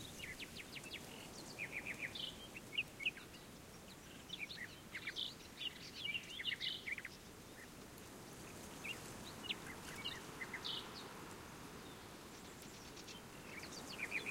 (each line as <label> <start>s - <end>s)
Nightingales 0.0s - 14.3s
wind gusts on poplars 0.0s - 14.3s